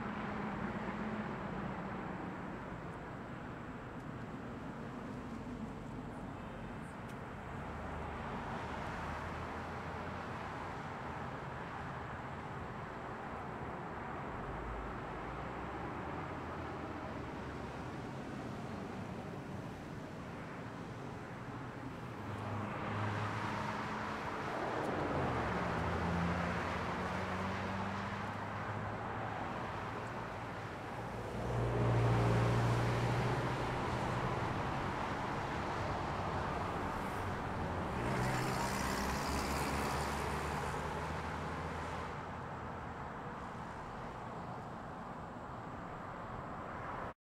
0.0s truck 47.1s
0.0s Light traffic 47.2s

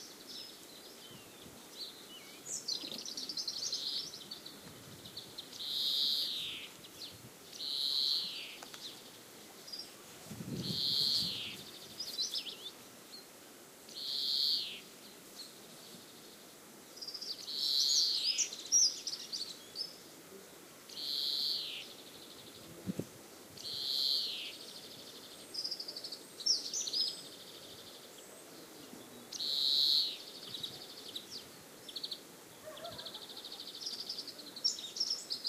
0.0s bird song 10.0s
0.0s greenfinches 10.0s
10.0s gentle wind bumps 12.1s
10.6s bird song 13.3s
10.6s greenfinches 13.3s
13.9s bird song 20.1s
20.9s bird song 22.7s
23.6s bird song 35.4s
32.6s seagull cry 33.6s

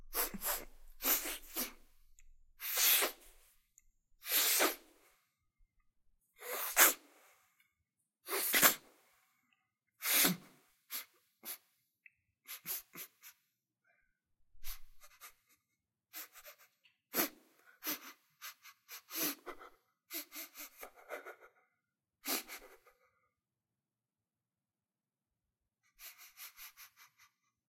0.1s sniffing sounds 2.0s
0.1s Wiping nose while inhaling 2.0s
2.6s Wiping nose while inhaling 3.5s
2.6s sniffing sounds 3.5s
4.2s sniffing sounds 5.2s
4.2s Wiping nose while inhaling 5.2s
6.4s sniffing sounds 7.5s
6.4s Wiping nose while inhaling 7.4s
8.2s sniffing sounds 9.0s
8.3s Wiping nose while inhaling 8.9s
10.0s sniffing sounds 11.7s
12.5s sniffing sounds 13.4s
14.6s sniffing sounds 21.6s

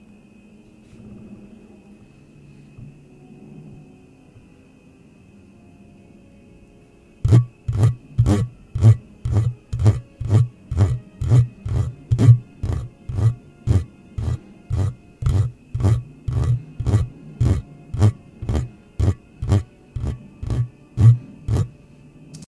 7.3s Microphone Scratch 21.7s

